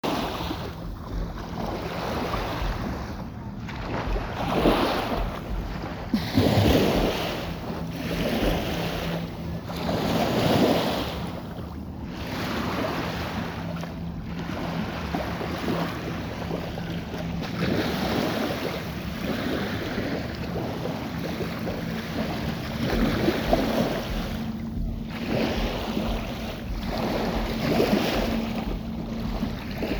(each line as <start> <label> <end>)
0.0 distant motorboat 29.9
0.0 waves on the shore 29.9